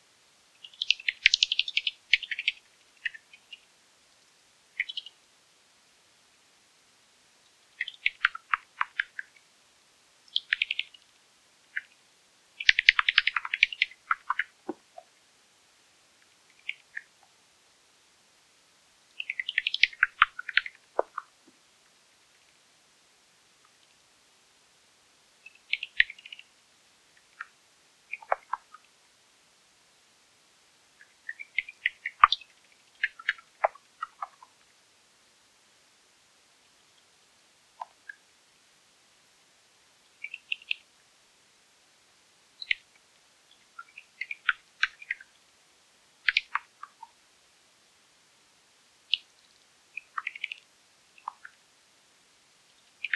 Bats 0:00.6 - 0:03.7
Bats 0:07.8 - 0:09.4
Bats 0:12.6 - 0:15.1
Bats 0:46.2 - 0:47.2

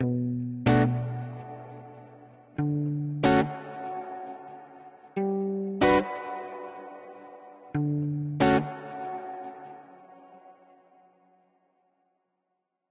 Upbeat Pop Guitar 0:02.6 - 0:09.8

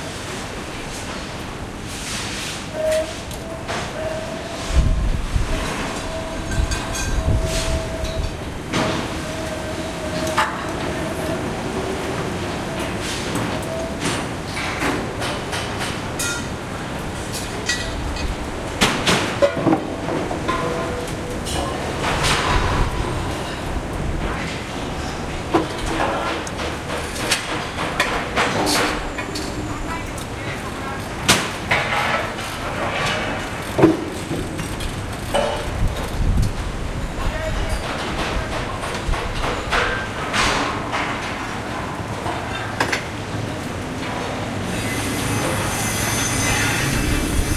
machine 0:00.0 - 0:47.5
saw 0:44.6 - 0:47.5

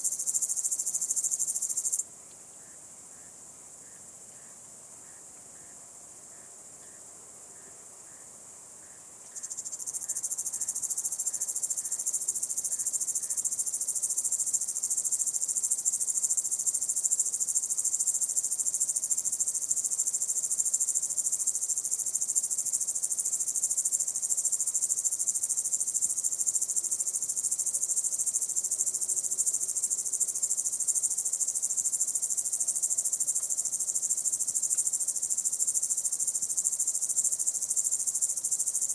Single Cicade or Cricket 0:00.0 - 0:38.9

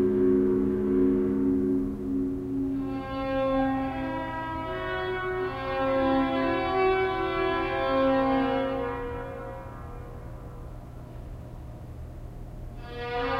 feedback loop 0:00.0 - 0:04.6

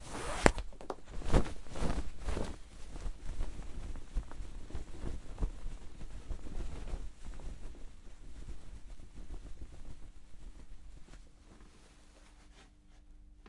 Parachute Opening 0:00.0 - 0:03.9

